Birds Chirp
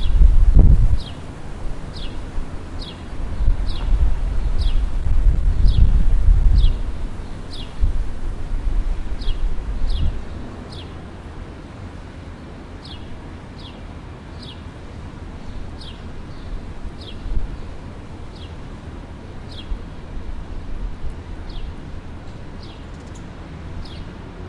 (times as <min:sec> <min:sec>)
0:00.9 0:01.3, 0:01.9 0:05.0, 0:05.6 0:07.9, 0:09.2 0:11.0, 0:12.3 0:14.7, 0:15.4 0:18.6, 0:19.4 0:19.8, 0:21.4 0:24.2